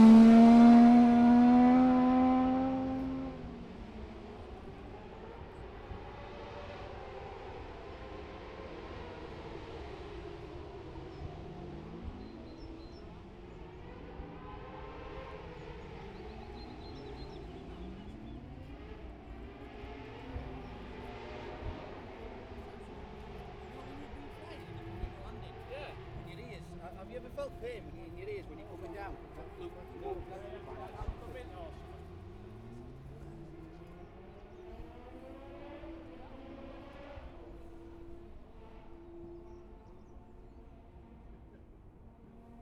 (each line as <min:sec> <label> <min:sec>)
0:00.0 motorcycle road racing 0:42.6